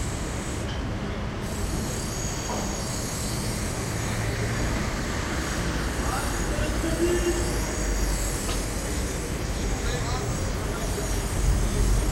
0.0s street activity 12.1s
2.4s tools 2.8s

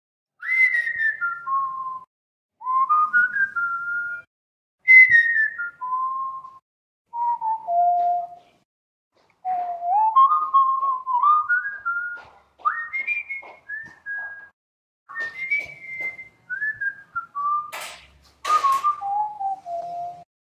0.4s Whistling with a few effects 8.6s
9.4s Whistling with a few effects 17.8s
18.4s Whistling with a few effects 20.3s

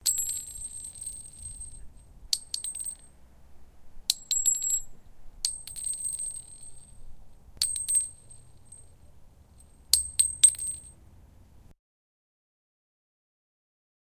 0.0s Brass bullet shell casing drop onto concrete 3.2s
4.1s Brass bullet shell casing drop onto concrete 11.0s

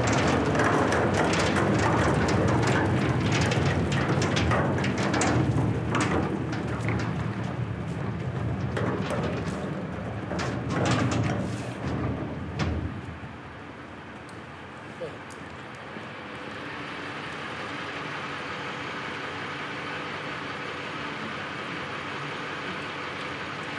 0.0s men hauling our dumpster to the truck 14.8s

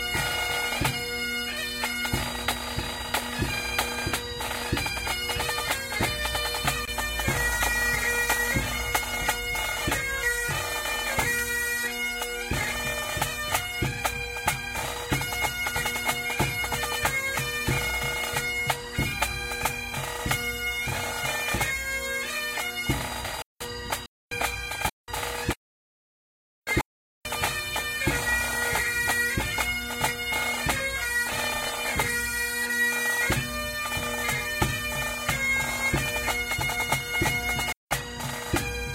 0.0s Bagpipes 25.6s
26.7s Bagpipes 38.9s

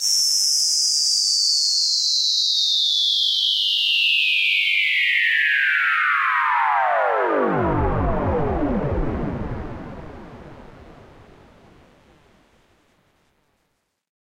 0.0s Whistle Hit 4.9s

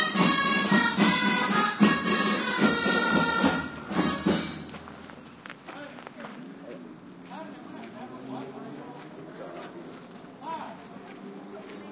0.0s drums 5.4s
0.0s park ambiance in background 11.9s

